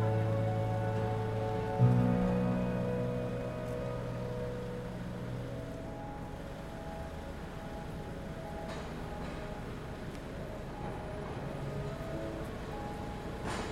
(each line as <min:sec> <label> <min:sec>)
0:00.0 il tram 0:13.7
0:00.0 le macchine 0:13.7
0:00.0 le persone 0:13.7
0:00.0 le rondini 0:13.7